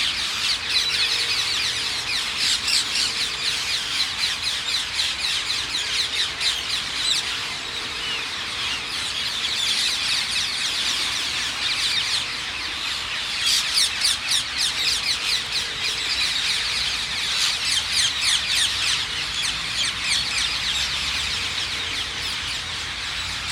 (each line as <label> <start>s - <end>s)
Thousand strong Ring-necked Parakeet Roost 0.0s - 23.5s